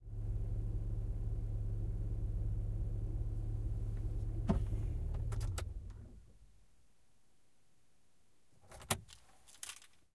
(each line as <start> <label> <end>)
0.0 turning engine off 6.2
9.0 taking keys 10.0